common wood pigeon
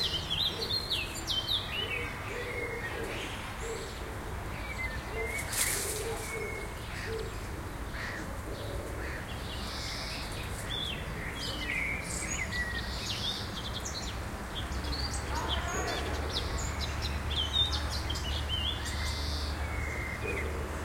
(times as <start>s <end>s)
0.0s 12.3s, 18.8s 20.8s